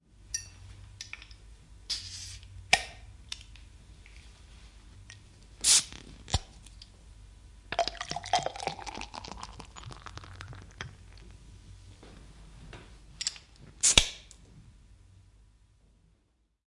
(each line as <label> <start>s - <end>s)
bottles open 7.7s - 11.0s
pouring beer 7.7s - 11.2s